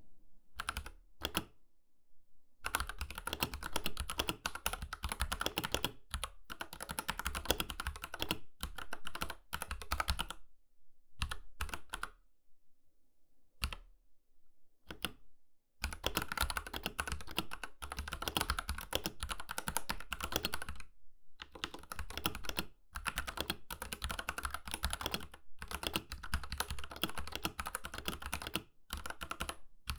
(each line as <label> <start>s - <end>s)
mechanical keyboard typing 2.7s - 10.4s
mechanical keyboard typing 15.8s - 20.8s
mechanical keyboard typing 21.4s - 29.9s